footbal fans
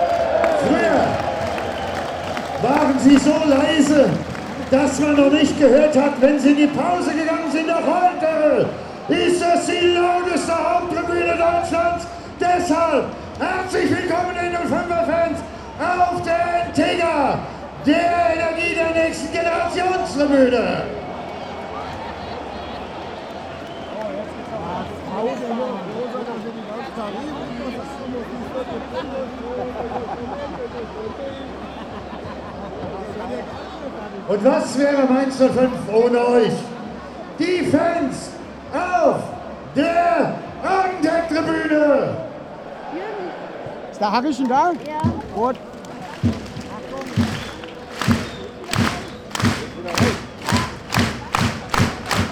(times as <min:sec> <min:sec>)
0:00.0 0:11.0, 0:43.6 0:52.3